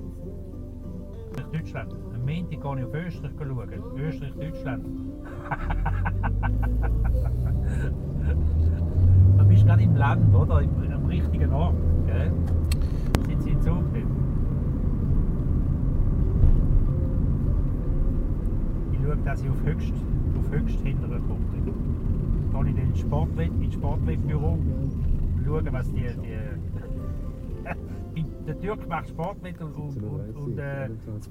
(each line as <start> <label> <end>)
1.4 taxi driver commenting 12.4
13.2 taxi driver commenting 14.2
18.9 taxi driver commenting 31.3